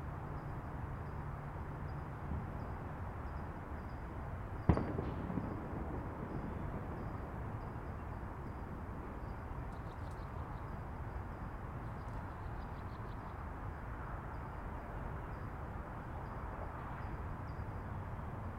left-over 4th of July fireworks 0:04.4 - 0:10.1
Freeways 0:04.7 - 0:07.7

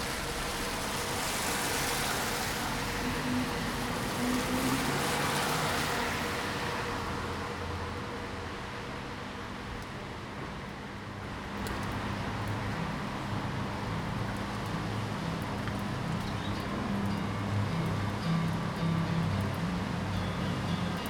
traffic 0:00.0 - 0:21.0

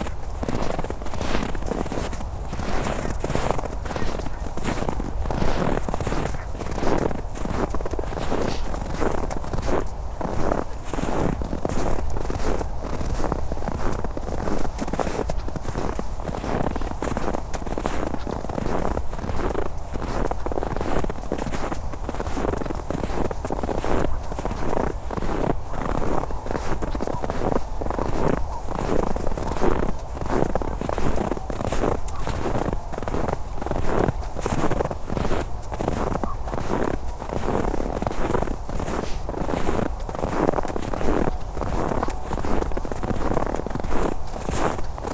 steps in the snow 0:00.0 - 0:45.1

